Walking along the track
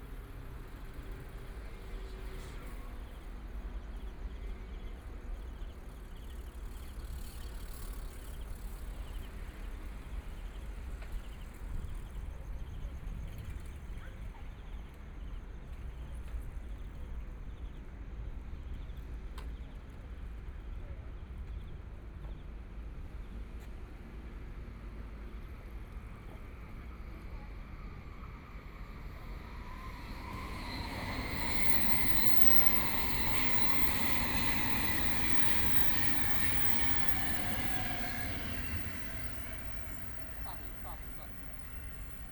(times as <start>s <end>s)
23.3s 42.3s